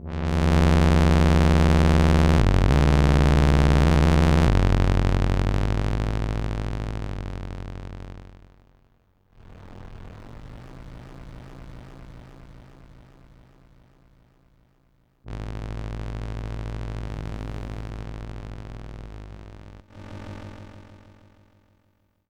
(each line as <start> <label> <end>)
0.0 Analog Bass 10.8
15.3 Analog Bass 20.1